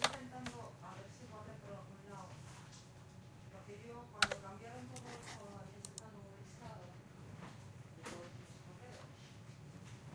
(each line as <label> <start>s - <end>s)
computers 3.6s - 6.2s
photocopiers 4.2s - 6.0s
mouse movements 4.2s - 6.1s